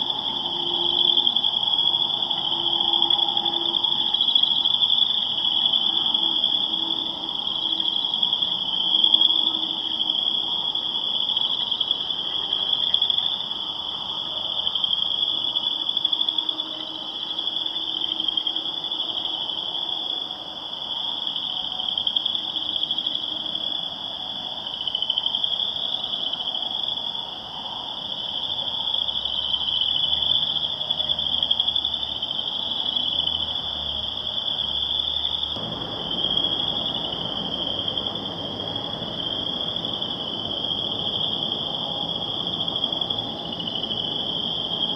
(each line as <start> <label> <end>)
0.0 cars going by on the road 44.9